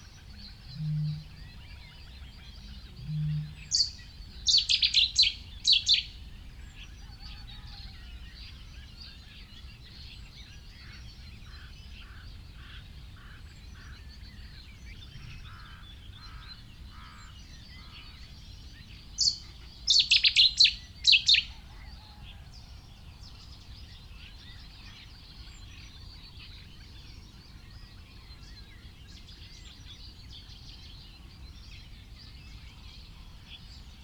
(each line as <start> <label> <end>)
0.0 background noise 34.0
0.0 blackbird 34.0
0.0 reed warbler 34.0
0.5 cuckoo 2.0
2.9 cuckoo 4.0